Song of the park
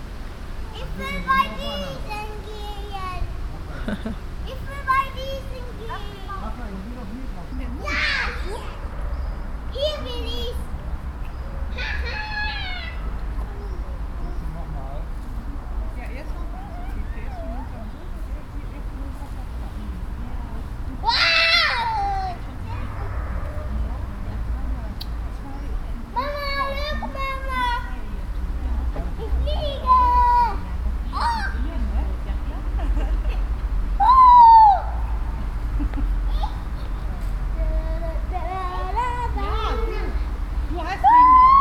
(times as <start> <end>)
32.2 41.6